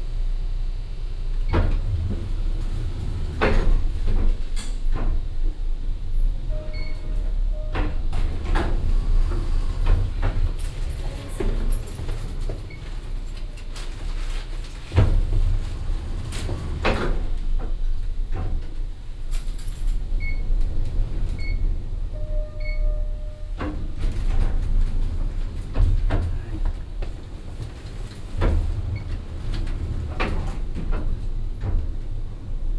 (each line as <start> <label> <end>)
0.4 hotel elevator 32.7
1.4 servants and janitors entering and exiting 32.7